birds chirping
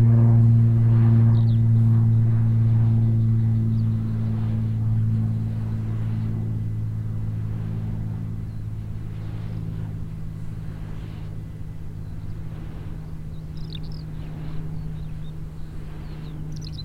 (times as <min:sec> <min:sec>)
0:01.3 0:04.7, 0:08.2 0:09.0, 0:09.6 0:16.8